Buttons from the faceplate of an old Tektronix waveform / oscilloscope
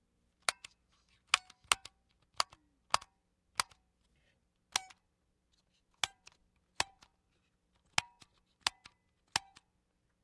0.4 3.8, 4.7 7.2, 7.8 9.7

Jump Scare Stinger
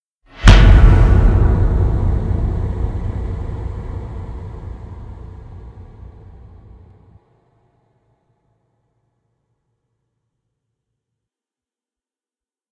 0.4 6.9

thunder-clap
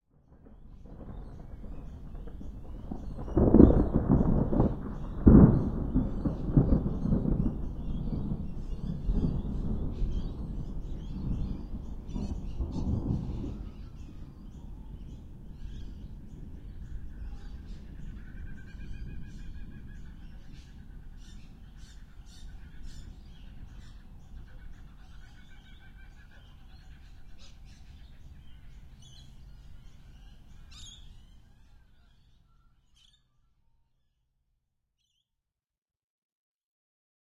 0.0 24.9

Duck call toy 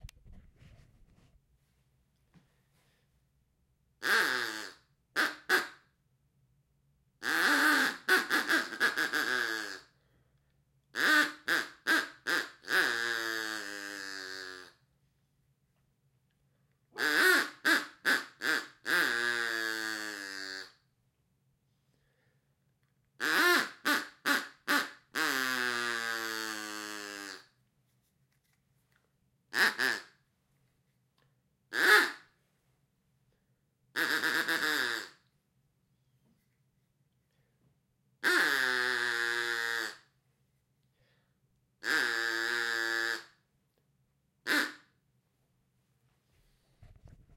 4.0 5.9, 7.2 10.1, 10.9 14.8, 17.0 20.9, 23.2 27.6, 29.5 30.2, 31.7 32.4, 33.9 35.3, 38.2 40.2, 41.8 43.5, 44.4 45.0

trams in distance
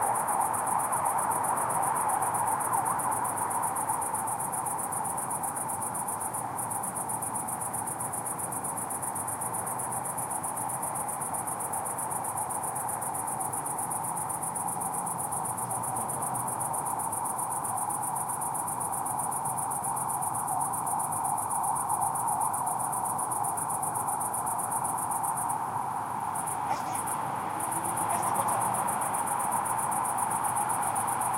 26.4 31.2

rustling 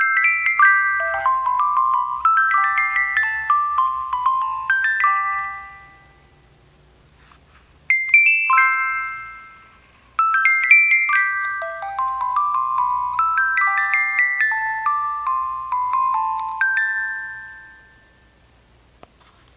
7.1 8.2, 19.0 19.5

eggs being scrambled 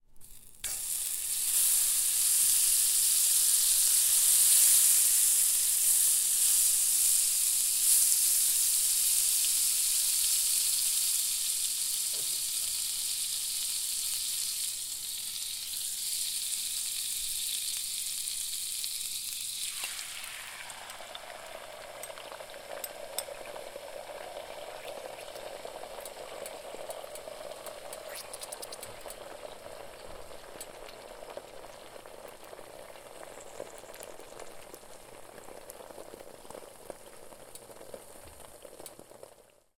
25.0 29.4

